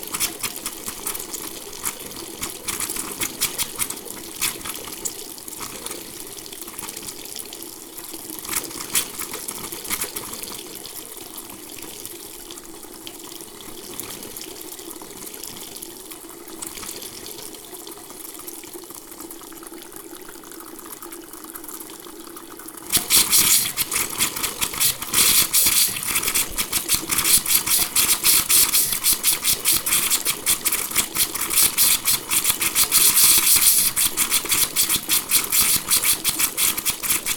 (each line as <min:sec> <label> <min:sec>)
0:00.0 hissing faucet 0:06.1
0:08.5 hissing faucet 0:10.6
0:22.9 hissing faucet 0:37.3
0:22.9 water is flowing again 0:37.3